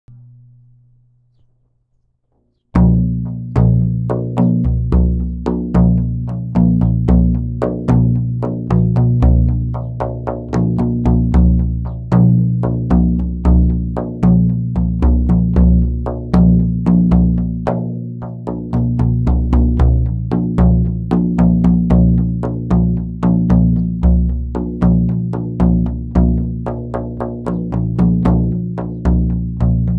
frame-drum 0:02.7 - 0:29.9

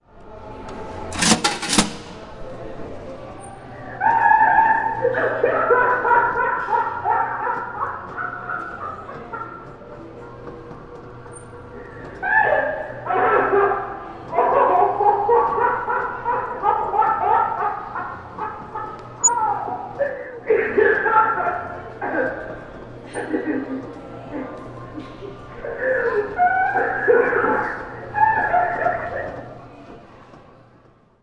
laugh 0:04.0 - 0:09.8
laugh 0:14.4 - 0:19.2
laugh 0:20.0 - 0:29.5

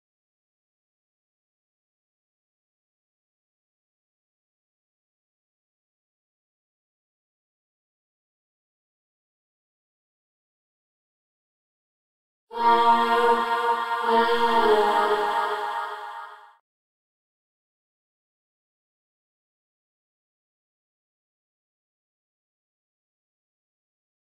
vocal passage 0:12.5 - 0:16.6

